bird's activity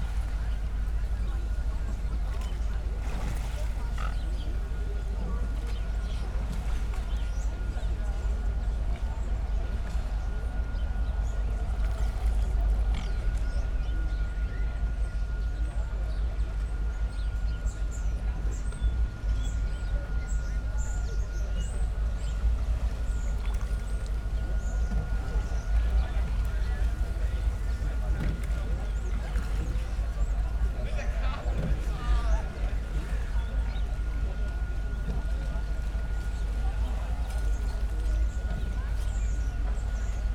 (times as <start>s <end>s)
0.0s 7.5s, 19.8s 40.3s